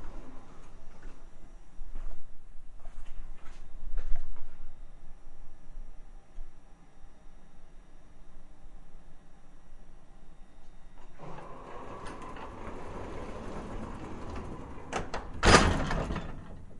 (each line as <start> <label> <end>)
0.0 very old elevator 3.0
10.2 very old elevator 16.7